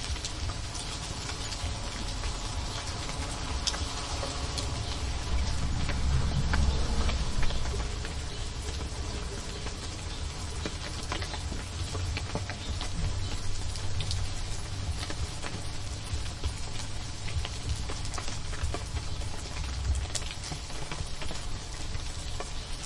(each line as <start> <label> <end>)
0.0 Rain Fall Through Trees 22.8
0.0 Splashing on a nearby shed 22.8